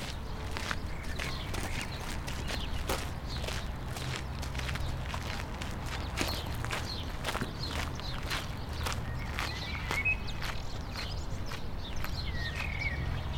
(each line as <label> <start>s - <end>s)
joggers 0.0s - 12.8s
Walkers 0.0s - 13.3s
Distant traffic 0.0s - 13.3s
birds 0.0s - 13.3s